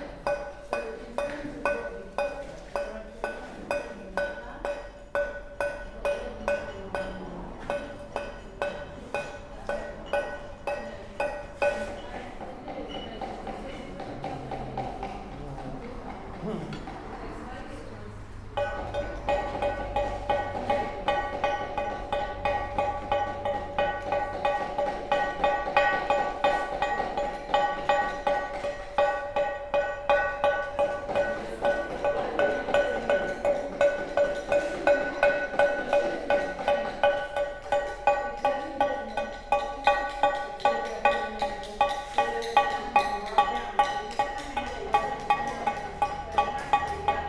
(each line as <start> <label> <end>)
14.0 busy road 25.1